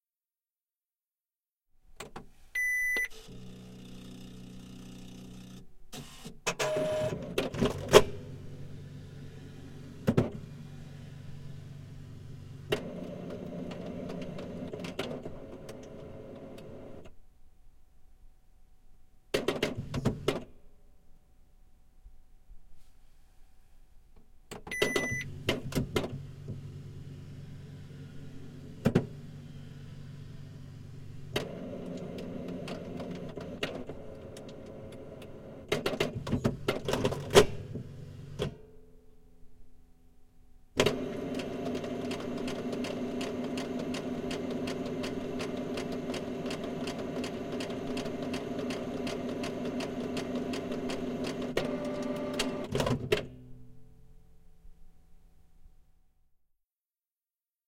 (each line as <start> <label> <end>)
2.6 printer 11.8
2.6 copier 17.1
2.6 fax 17.1
12.5 printer 17.1
24.7 fax 25.7
24.7 copier 38.6
24.7 printer 38.6
40.8 fax 52.9
40.8 copier 53.2
40.8 printer 53.3